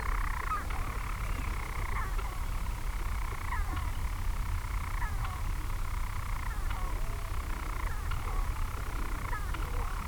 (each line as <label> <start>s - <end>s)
manx shearwaters 0.0s - 10.0s